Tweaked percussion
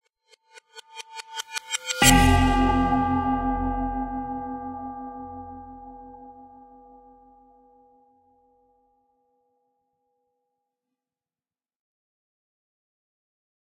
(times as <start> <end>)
1.2 3.9